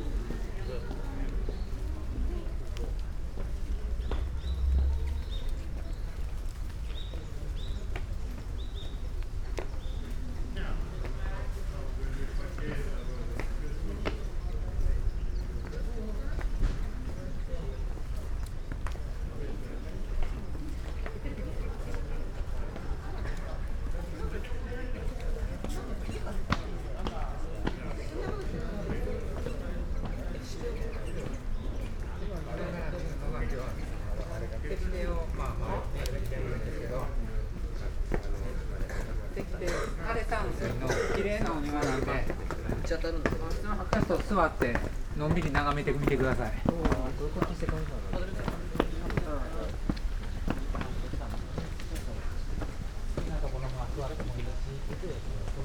people talking 0.0 - 55.6
birds 0.0 - 22.5
steps 37.9 - 55.6

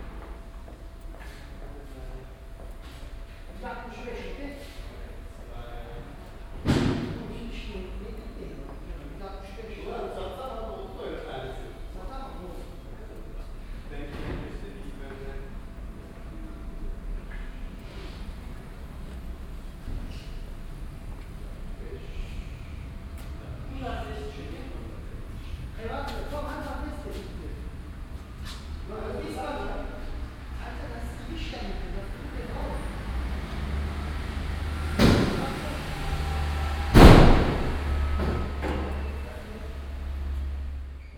männerkonversationen 1.0 - 18.2
männerkonversationen 21.1 - 36.4

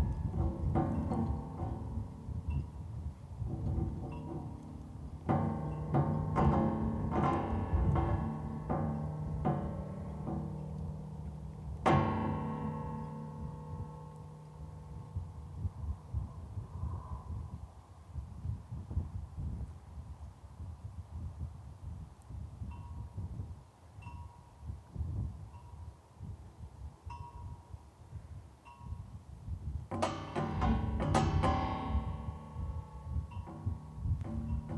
loose metal sign 0.0 - 15.9
gamelan chorus of sailboat riggings in the wind 0.0 - 34.7
loose metal sign 29.9 - 34.7

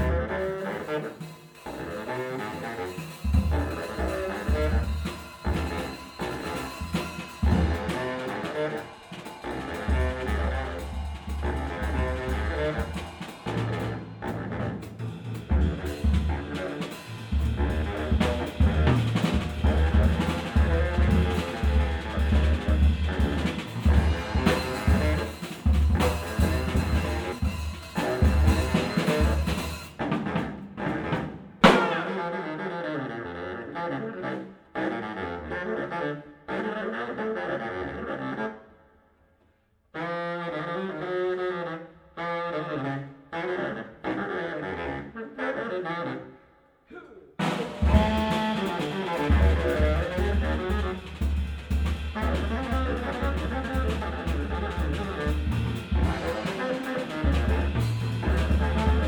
bass saxophone 0.0 - 30.1
drums 0.0 - 32.5
bass saxophone 30.7 - 38.8
bass saxophone 39.9 - 59.0
drums 47.0 - 59.0

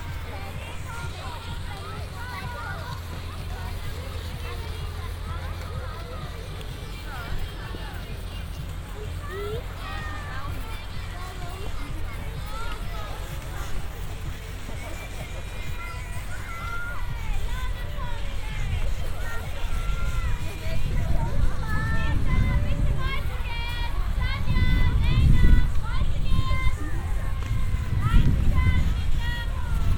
music 0.0 - 29.9
several moving carpet elevators 0.0 - 29.9
wind disturbances 0.0 - 29.9

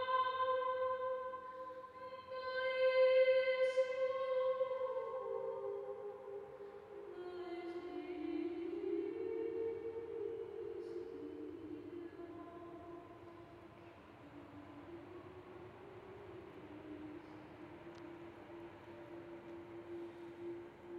female singer 0.0 - 20.9

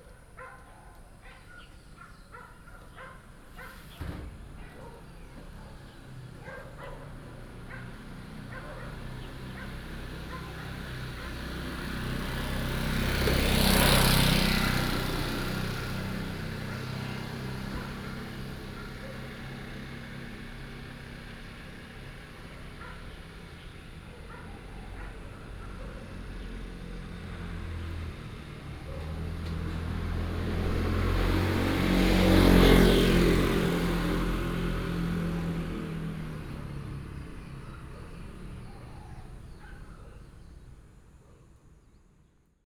traffic sound 0.0 - 42.2
Birds singing 0.0 - 20.2
Birds singing 35.3 - 42.2

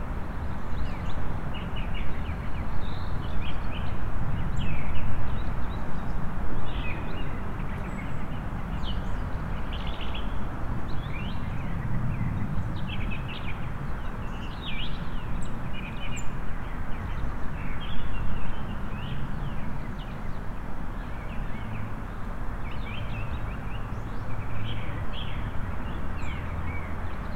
Traffic sounds 7.3 - 27.3

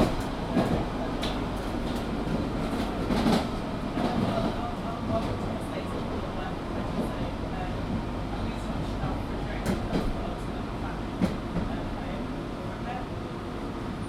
underground train (tube train) travelling 0.0 - 14.0

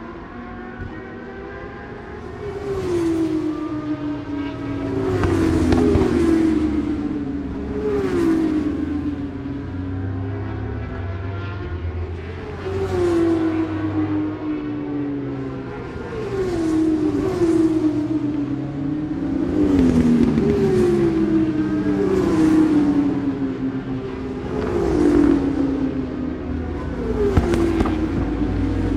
British Superbikes 2.5 - 14.6
British Superbikes 15.7 - 28.9

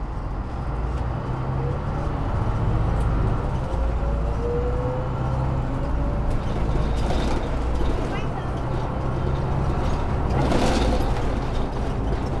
articulated bus, which cracks, rattles, squeal, grinds 0.0 - 12.4
conversations of passengers 6.4 - 12.3

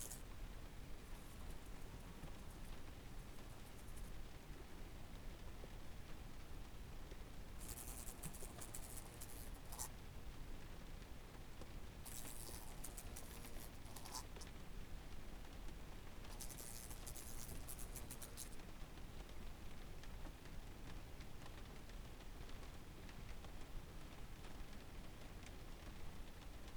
lonely fly 0.0 - 4.3
lonely fly 7.6 - 9.9
lonely fly 12.1 - 14.5
lonely fly 16.3 - 18.6

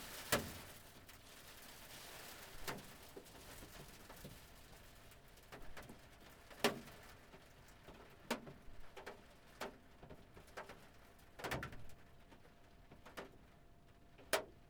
hailstones and waterdroplets on a van roof 0.0 - 14.6

